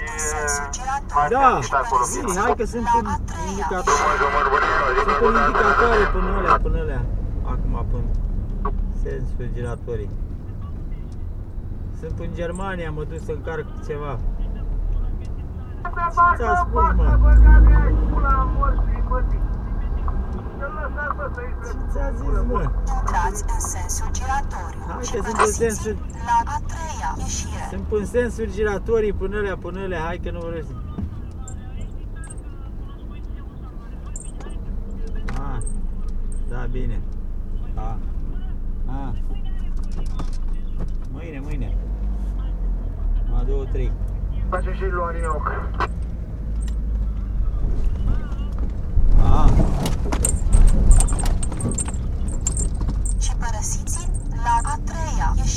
navigating his van 0:29.9 - 0:43.0
navigating his van 0:43.9 - 0:55.5

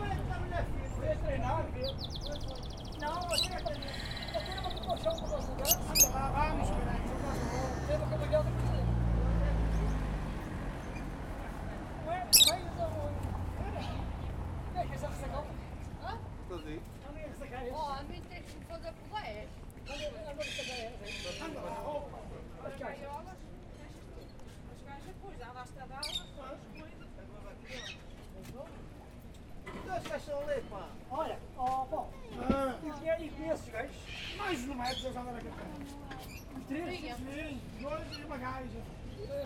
vendors are packing bird cages into a truck 0:00.6 - 0:14.0

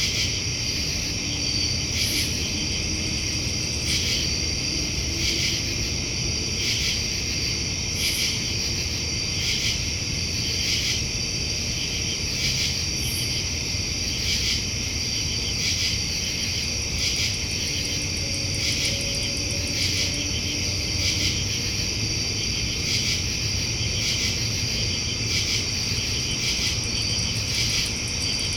crickets 0:00.0 - 0:28.5
hum of an AC fan 0:00.0 - 0:28.5

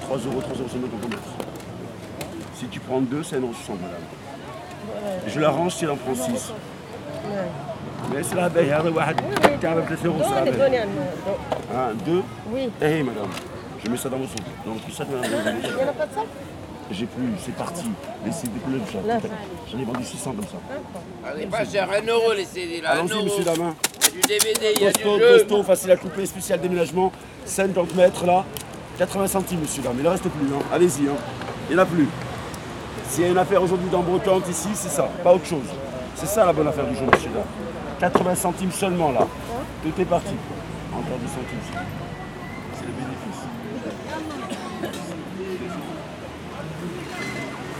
Flea market sellers 0:00.0 - 0:47.7
Walking across a Flea market 0:23.0 - 0:35.6

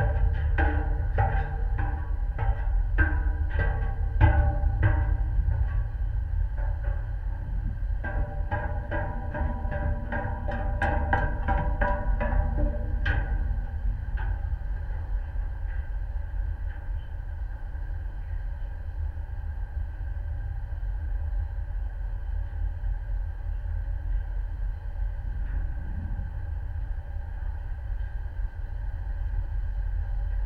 metal steps on deck 0:00.0 - 0:15.9

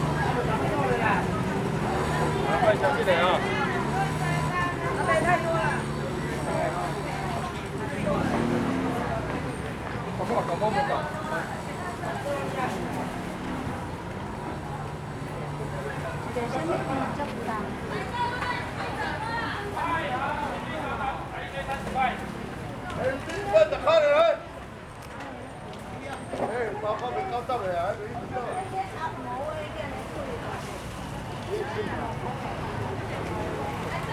Walking in the market 0:00.0 - 0:34.1

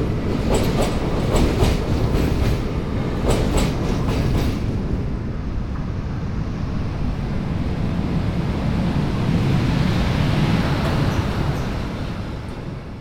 trains passing the iron rhine bridge 0:00.0 - 0:13.0

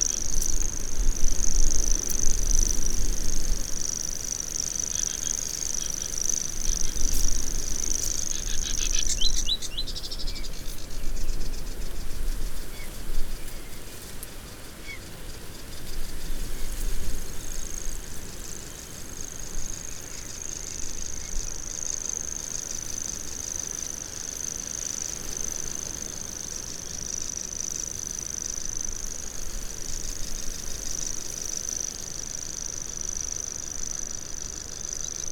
sedge warbler 0:00.0 - 0:11.4
bird song from grasshopper warbler 0:00.0 - 0:35.3

